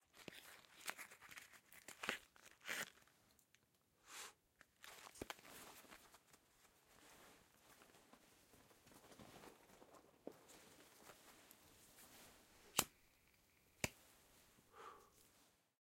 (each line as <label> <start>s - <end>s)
person opens a pack 0.0s - 3.7s
person opens a pack 4.6s - 6.4s
lighter 12.7s - 13.0s